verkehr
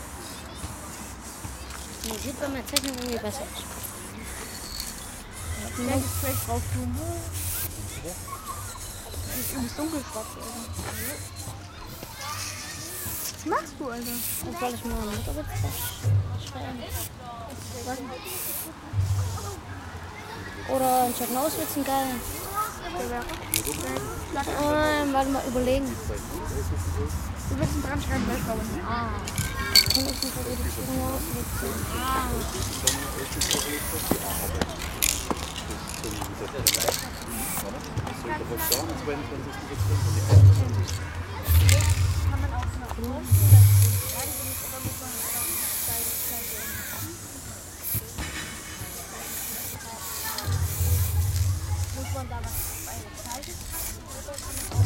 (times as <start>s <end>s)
18.6s 54.8s